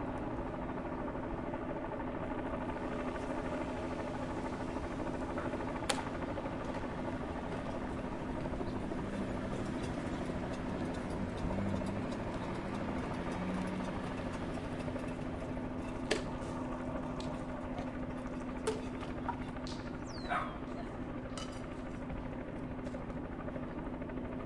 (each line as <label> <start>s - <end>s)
helicopter hovering 0.0s - 24.4s
dog bark 20.2s - 20.6s